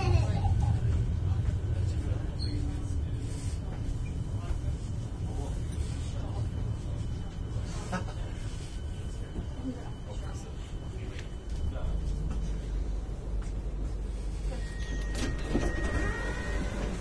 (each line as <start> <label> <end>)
0.0 Riding a train 17.0
14.6 held the doors open 17.0